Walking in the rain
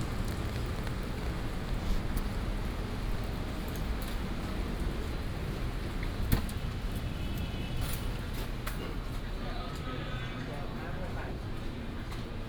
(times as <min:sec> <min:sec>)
0:00.0 0:08.4